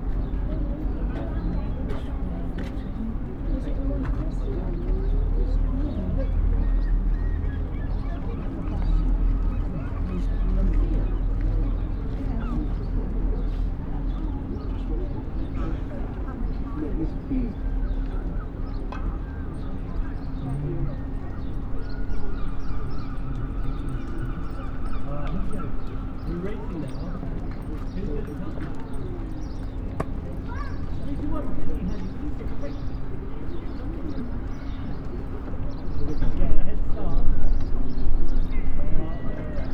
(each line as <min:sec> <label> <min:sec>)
0:00.0 Passers-by talk 0:39.7
0:27.8 children play 0:35.8